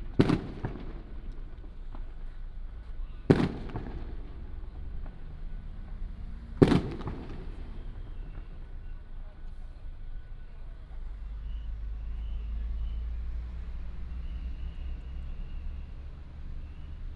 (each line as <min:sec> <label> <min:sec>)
0:00.0 fireworks 0:12.3
0:00.0 Firecrackers 0:17.1